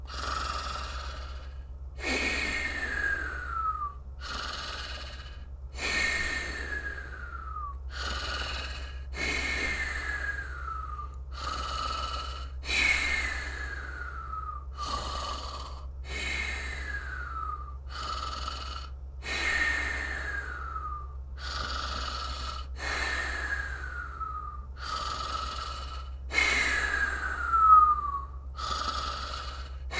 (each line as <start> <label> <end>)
0.0 Snorting 13.5
0.0 Snoring 14.2
2.4 Whistling 4.0
6.7 Whistling 7.8
9.8 Whistling 11.2
13.0 Whistling 15.0
14.8 Snorting 20.7
14.8 Snoring 29.9
16.8 Whistling 17.9
20.2 Whistling 22.2
21.4 Snorting 27.5
23.4 Whistling 25.6
26.4 Whistling 29.4
28.6 Snorting 29.9